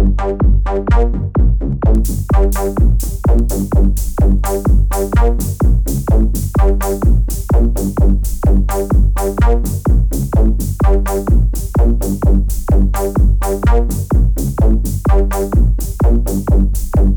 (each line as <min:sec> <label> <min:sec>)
0:00.0 beat 0:17.1